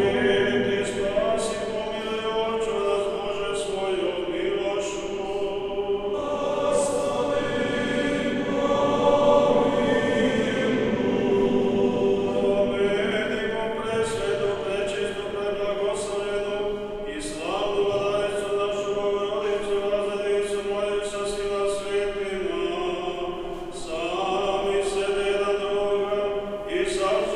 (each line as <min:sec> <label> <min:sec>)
0:00.0 leader is heard through church's sound system 0:27.3